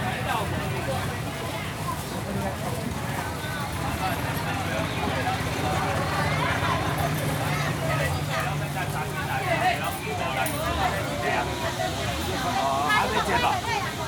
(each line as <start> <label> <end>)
0.0 Walking in the traditional market 14.0
3.2 Traffic Sound 14.0